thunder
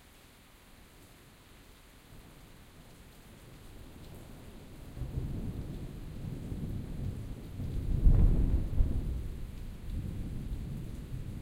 0:05.0 0:11.4

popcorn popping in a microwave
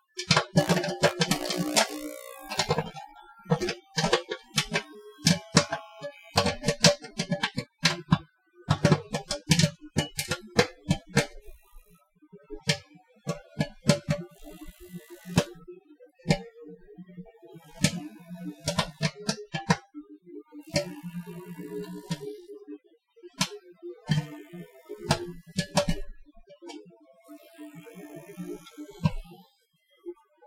0:00.2 0:11.5, 0:17.8 0:19.8, 0:20.8 0:22.3, 0:24.1 0:26.1

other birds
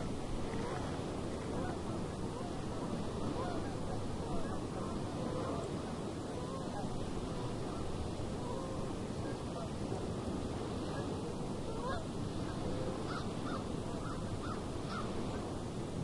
0:12.0 0:15.4

